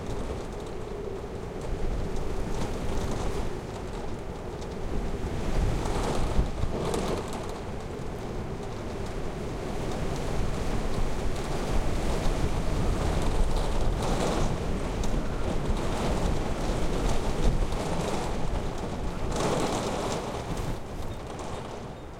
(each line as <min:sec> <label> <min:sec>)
0:00.0 WInter storm wind lashing snow 0:22.1